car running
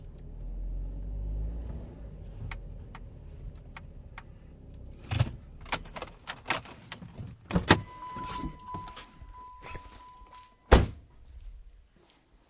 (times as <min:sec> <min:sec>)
0:00.0 0:06.6